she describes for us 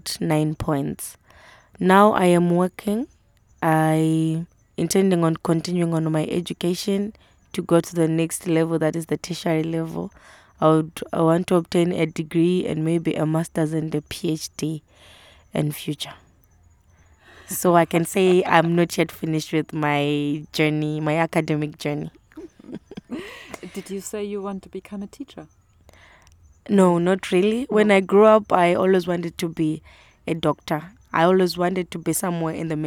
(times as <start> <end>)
1.8 14.8, 17.3 25.5